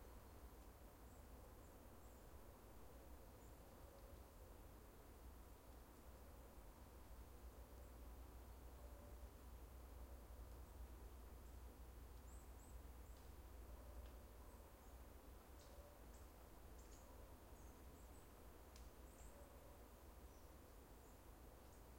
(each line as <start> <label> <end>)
0.0 leaves 21.9
12.2 birds 21.9